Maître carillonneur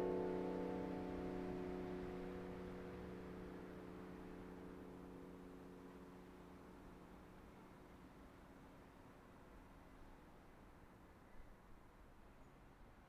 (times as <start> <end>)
0.0 4.0